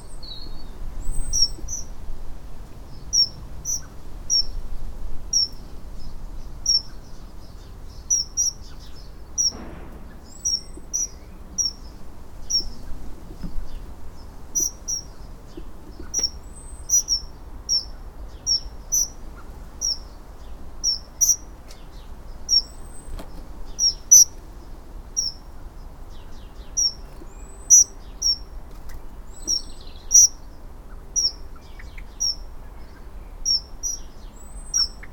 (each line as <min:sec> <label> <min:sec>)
0:00.0 Sparrow in the Walnut tree 0:35.1
0:00.0 blackbirds 0:35.1
0:00.0 soughing of the wind 0:35.1
0:00.0 vague and omnipresent traffic bass 0:35.1